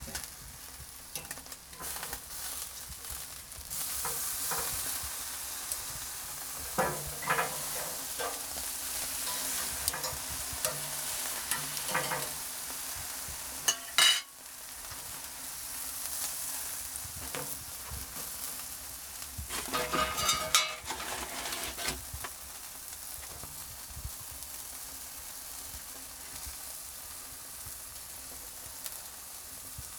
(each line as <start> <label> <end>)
0.0 meat sizzling on the barbecue grill 29.9
1.1 tongs moving and touching the plate 15.1
19.5 tongs moving and touching the plate 22.4